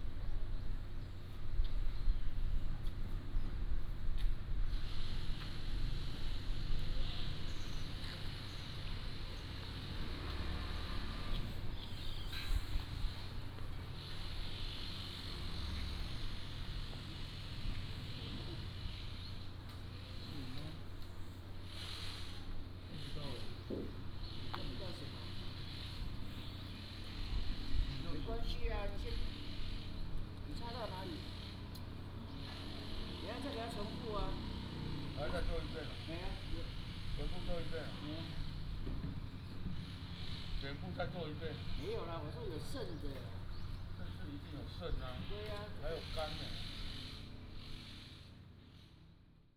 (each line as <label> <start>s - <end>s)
Traffic Sound 4.2s - 49.4s